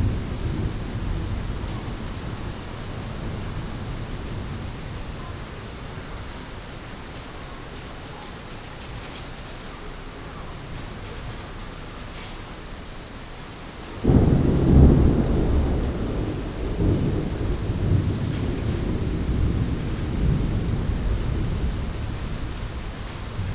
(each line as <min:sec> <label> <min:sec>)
0:00.0 Thunderstorms 0:06.4
0:14.0 Thunderstorms 0:23.5